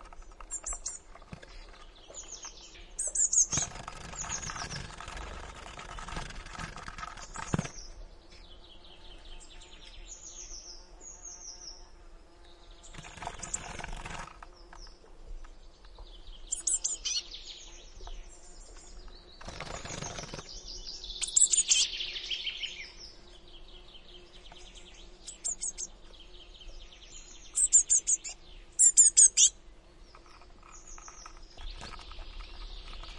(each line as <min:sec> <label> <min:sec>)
0:00.0 other birds 0:33.1
0:03.0 Wings 0:08.0
0:12.8 Wings 0:14.9
0:19.4 Wings 0:20.6
0:21.2 bird mother calling 0:22.0
0:21.2 Wings 0:21.9
0:25.2 Wings 0:25.9
0:25.2 bird mother calling 0:25.9
0:27.6 bird mother calling 0:29.6
0:30.1 Wings 0:33.1